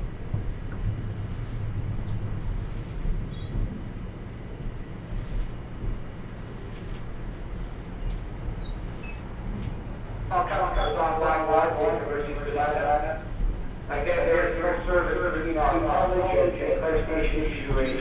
Echoing announcement of delays on TTC subway 9.8 - 18.0

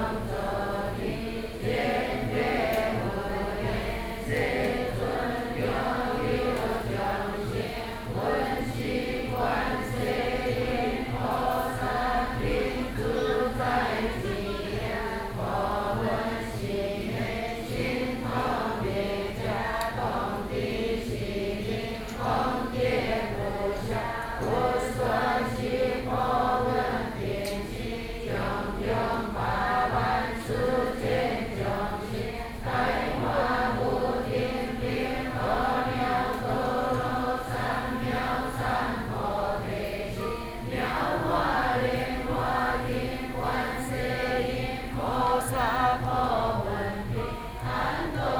Chant Buddhist scriptures 0.0 - 48.3

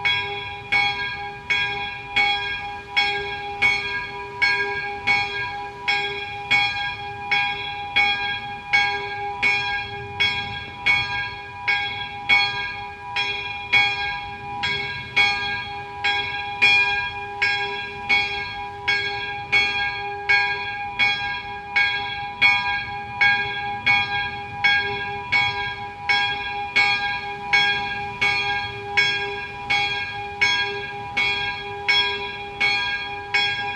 bells 0.0 - 33.7
windy 0.0 - 33.7

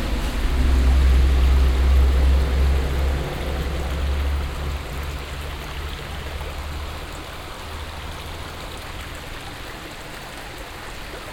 traffic passing the bridge 0.0 - 10.1
floating low water 0.0 - 11.3

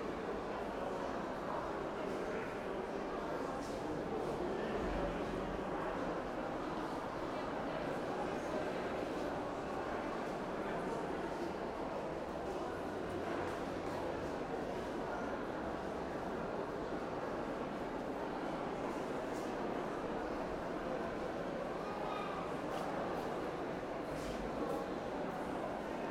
People 0.0 - 26.1

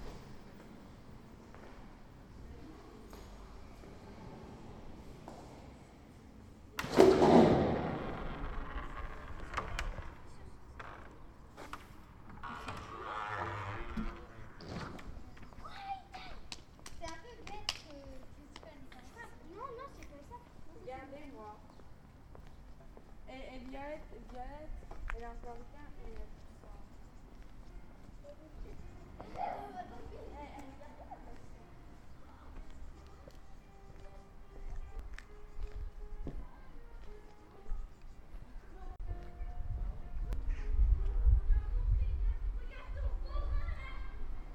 Children waiting outside are chatting 1.0 - 5.0
bizarre door sound 6.8 - 10.2
Children waiting outside are chatting 8.7 - 39.4
bizarre door sound 12.3 - 15.0
Children waiting outside are chatting 40.0 - 44.5

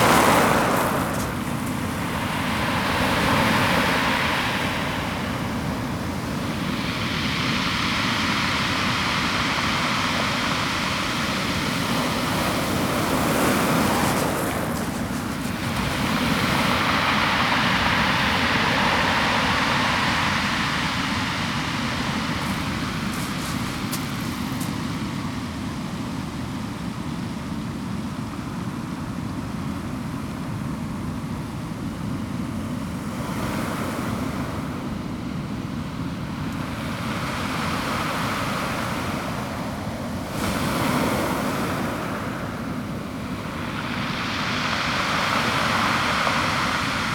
Waves 0.0 - 47.1
pebbles 0.0 - 2.3
pebbles 13.6 - 16.6
pebbles 22.4 - 24.8

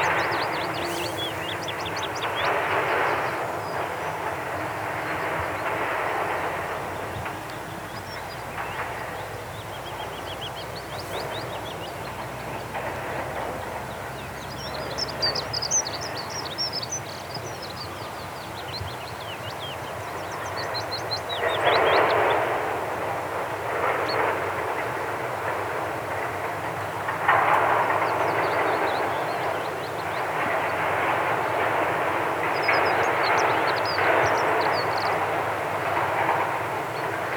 close up bees 0.0 - 3.6
long grass 0.0 - 4.3
logging truck down driving up a rough track 0.0 - 37.3
long grass 5.1 - 18.6
close up bees 6.8 - 19.4

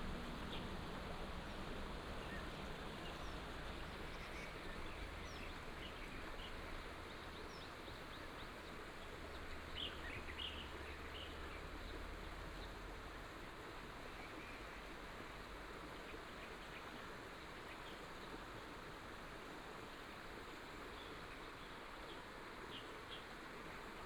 stream 0.0 - 24.0

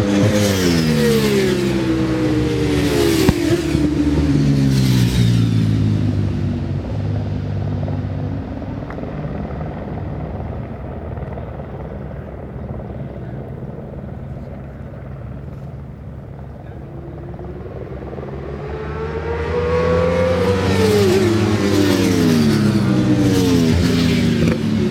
Superbikes 0.0 - 24.9

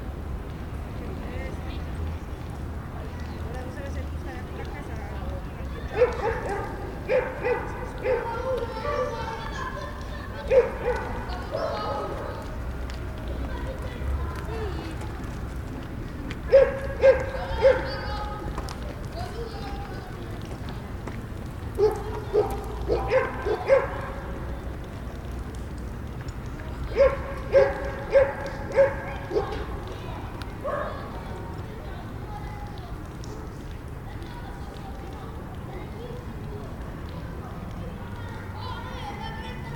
children 0.0 - 39.7
joggers 2.4 - 39.7
dogs 5.9 - 9.4
dogs 10.4 - 12.5
dogs 16.5 - 18.2
dogs 21.7 - 24.5
dogs 26.9 - 30.0
dogs 30.6 - 31.3

